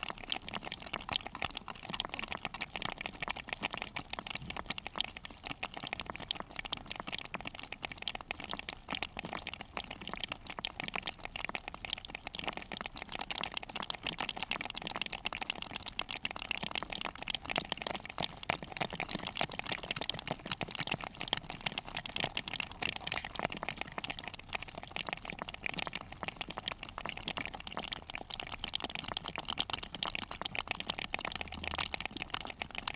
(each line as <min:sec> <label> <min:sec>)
0:17.4 spider crabs 0:25.2